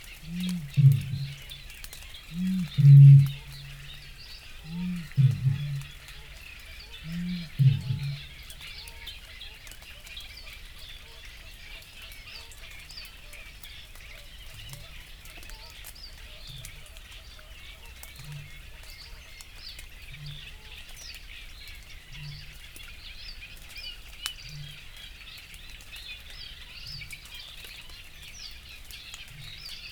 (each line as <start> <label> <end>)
0.0 reed bunting 9.2
0.0 cuckoo 21.1
0.0 Canada geese 22.9
0.0 little grebe 23.0
0.0 droplets still fall from the trees 29.9
0.0 reed warblers 29.9
0.0 wood pigeon 8.5
0.1 coot 9.1